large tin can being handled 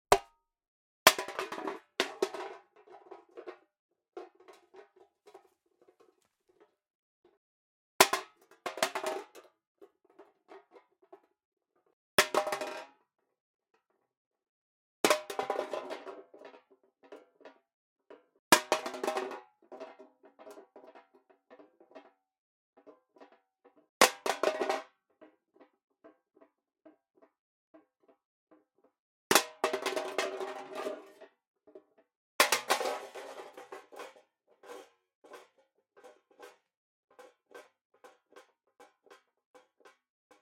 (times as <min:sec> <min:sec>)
0:01.1 0:07.4, 0:15.1 0:22.2, 0:22.8 0:40.4